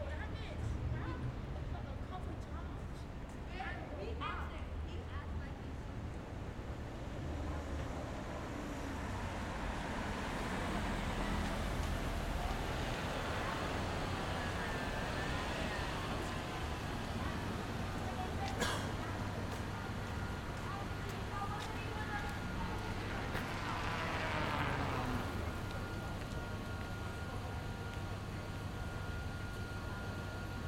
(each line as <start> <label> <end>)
0.0 street sounds 30.6